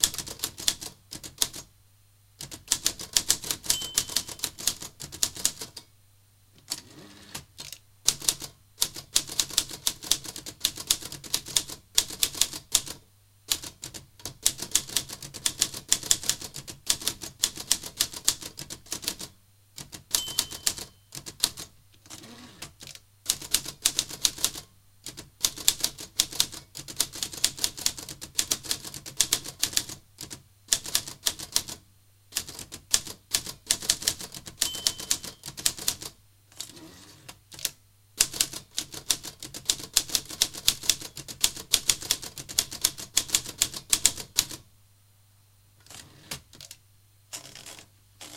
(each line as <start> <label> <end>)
0.0 typing of about 50 words 1.7
2.4 typing of about 50 words 5.9
3.7 small bell sound 4.5
6.6 typing of about 50 words 36.7
20.2 small bell sound 21.1
34.6 small bell sound 35.4
37.5 typing of about 50 words 44.6
45.9 typing of about 50 words 48.3